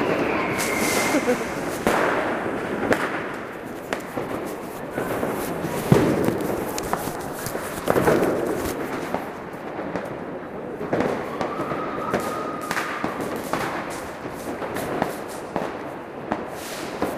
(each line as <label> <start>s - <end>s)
Echoes of bombs and fusillades 0.0s - 6.7s
child sets off sparklers 0.0s - 10.3s
child sets off sparklers 10.9s - 17.1s